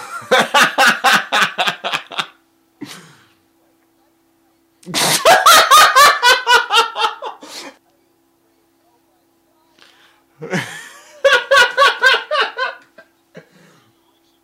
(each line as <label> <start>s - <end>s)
man laughing in various ways 0.0s - 2.4s
man laughing in various ways 4.9s - 7.5s
man laughing in various ways 10.4s - 13.5s